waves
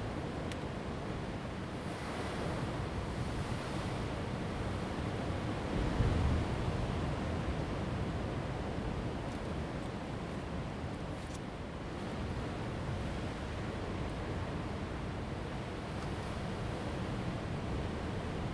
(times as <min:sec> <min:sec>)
0:00.9 0:09.7